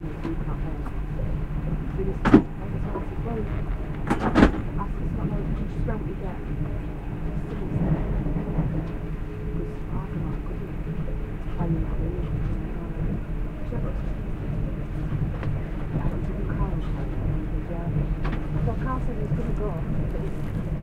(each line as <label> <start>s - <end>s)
train on the tracks 0.0s - 20.8s
voices 0.0s - 20.8s